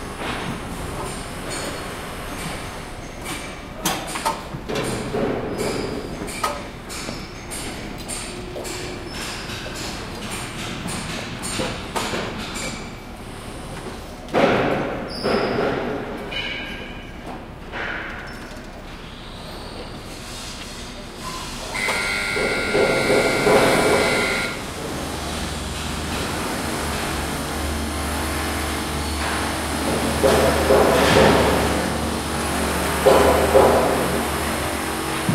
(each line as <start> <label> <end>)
0.0 other construction noises 35.3
21.8 Drilling 24.7
22.3 hammering 24.6
29.9 hammering 31.9
32.9 hammering 34.4